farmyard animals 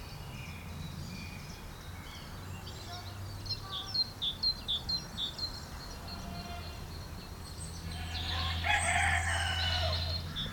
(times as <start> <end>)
6.0 6.9, 7.8 10.5